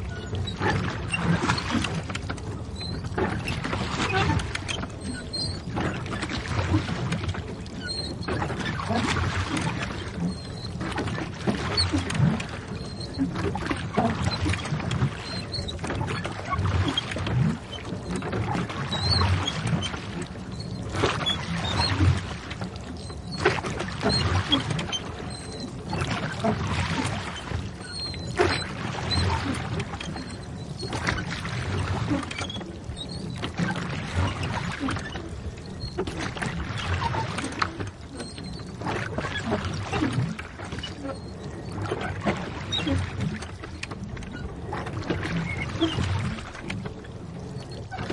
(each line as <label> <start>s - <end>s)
Rowing boat 0.0s - 48.1s